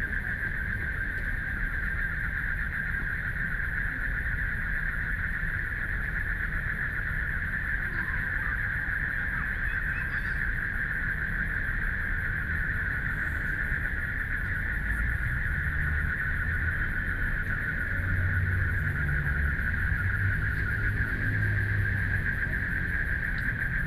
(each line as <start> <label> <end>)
0.0 Frogs sound 23.8
0.0 Traffic Sound 23.8